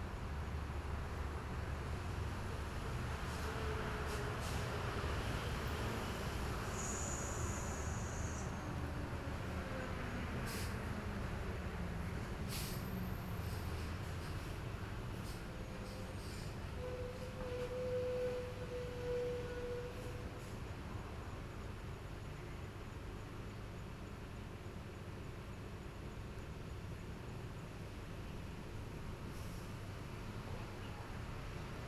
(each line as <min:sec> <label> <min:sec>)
0:00.0 Train traveling through 0:31.8